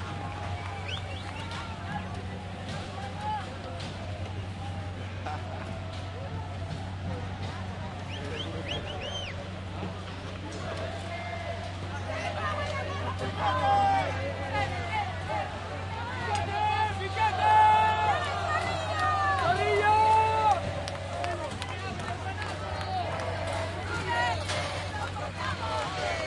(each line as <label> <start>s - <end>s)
crowd 0.0s - 26.2s